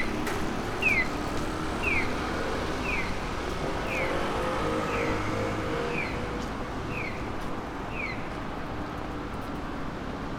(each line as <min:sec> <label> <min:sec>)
0:00.0 pedestrian crossing 0:10.3